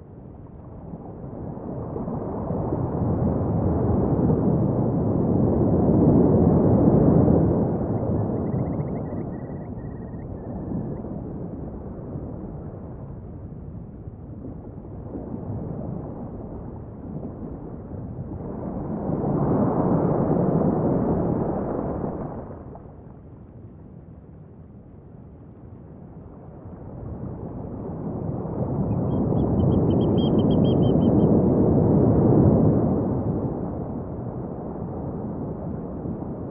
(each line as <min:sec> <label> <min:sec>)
0:00.0 waves 0:36.5